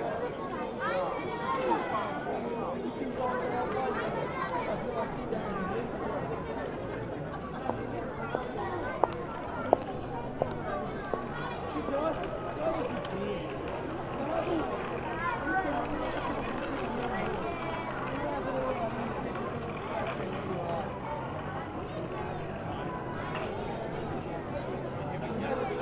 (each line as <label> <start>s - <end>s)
children playing 0.0s - 25.8s
plastic toys running around 11.7s - 20.7s